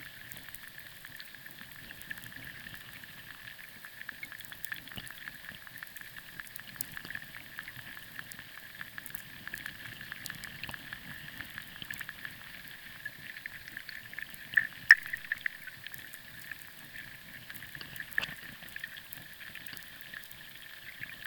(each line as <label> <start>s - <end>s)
underwater sounds 0.0s - 21.2s